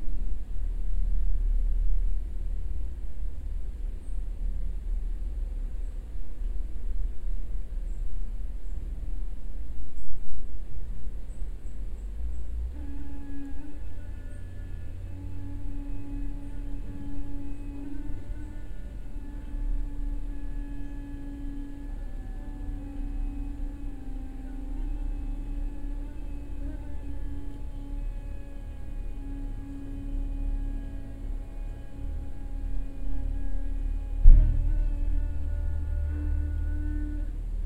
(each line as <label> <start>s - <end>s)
tube for rain water on the ground 12.7s - 37.6s